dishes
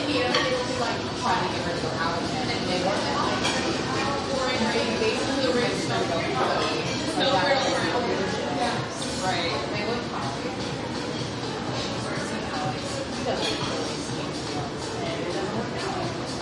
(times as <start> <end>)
0.2 0.8, 3.3 3.8, 13.3 14.1